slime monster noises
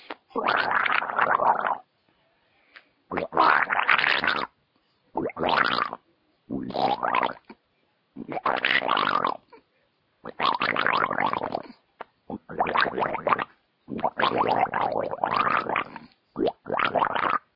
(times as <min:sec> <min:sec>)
0:00.3 0:01.8, 0:03.1 0:04.5, 0:12.3 0:17.5